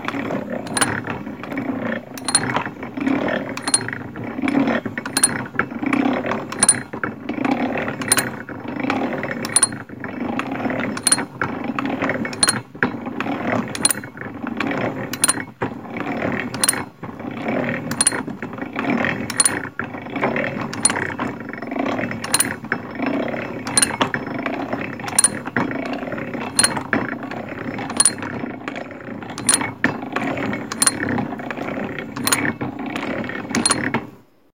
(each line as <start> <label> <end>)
0.0 Grinding gears and steady clinking of an antique, hand-cranked drill press 34.2